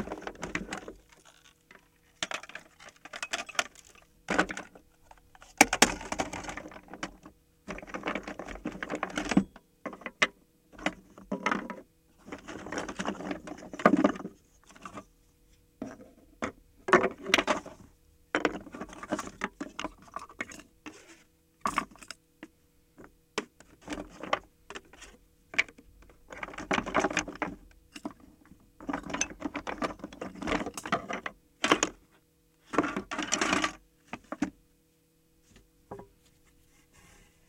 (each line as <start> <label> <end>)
0.0 Rummaging through toys 9.4
10.8 Rummaging through toys 15.1
18.4 Rummaging through toys 22.0